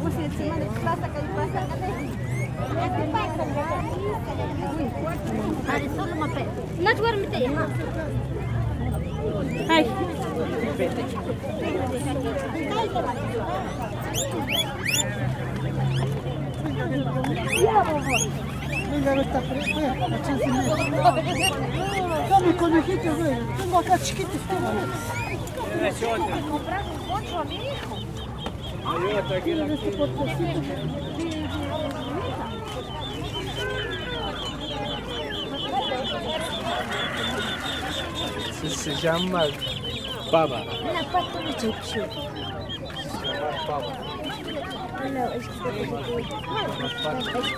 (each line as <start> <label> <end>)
0.6 geese 47.5
0.6 chickens 47.5
12.2 pigs of the Indies 22.6
24.6 pigs of the Indies 47.5